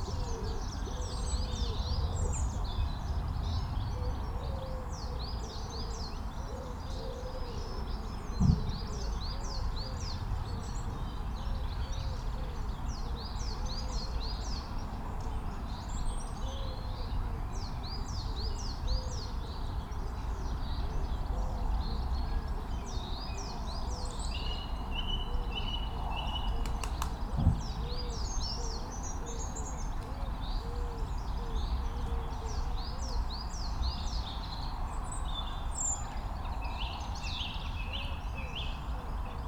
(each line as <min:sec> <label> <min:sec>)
0:00.0 background noise 0:39.4
0:26.2 collared dove 0:32.4
0:26.4 wood pigeon 0:32.3